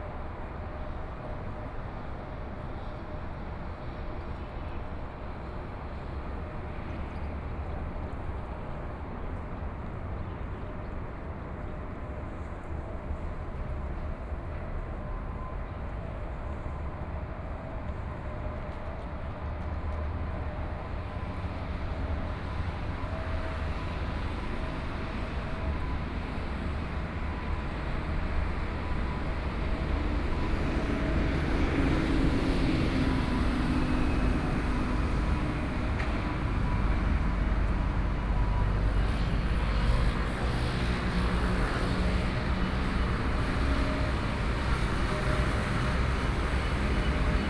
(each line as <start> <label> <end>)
16.4 walking on the Road 47.4
20.5 Traffic Sound 47.4